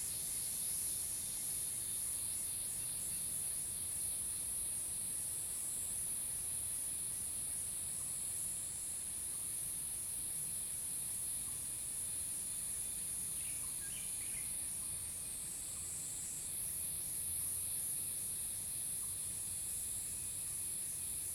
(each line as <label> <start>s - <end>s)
Cicadas called 0.0s - 21.3s